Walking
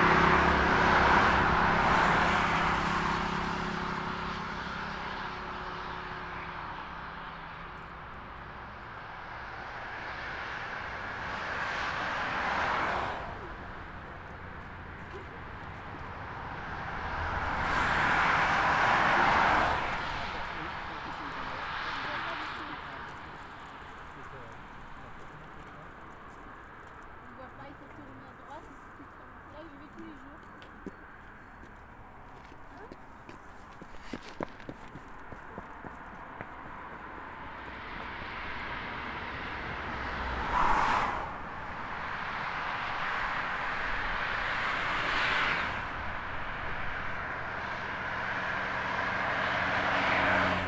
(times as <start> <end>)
20.8 38.7